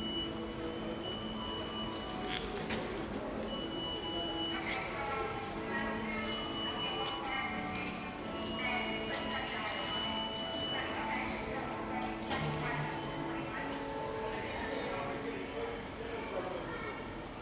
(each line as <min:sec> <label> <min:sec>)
0:00.0 pedestrians 0:17.4
0:00.0 voice from ticket information counter 0:17.4